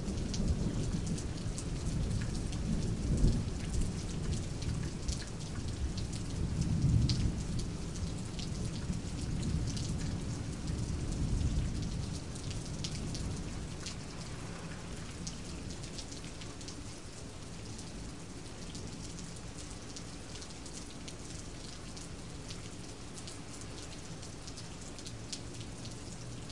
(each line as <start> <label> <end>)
0.0 rain 26.5
0.1 light thunder 4.8
5.7 light thunder 16.0